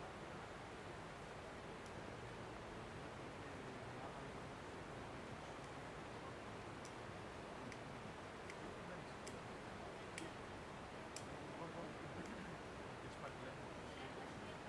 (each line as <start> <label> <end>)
0.0 River flow 14.6
0.0 light traffic 14.6
0.0 people talking distant 14.6
7.7 men discussing 13.8